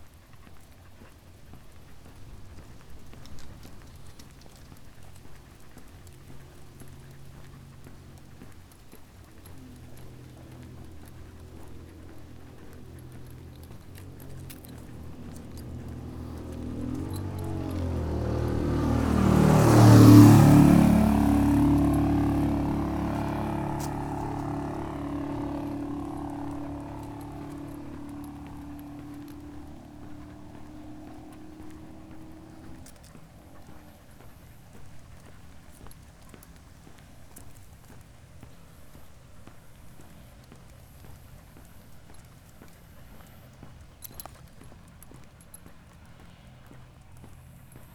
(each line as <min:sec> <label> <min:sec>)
0:00.0 walking the dog 0:47.9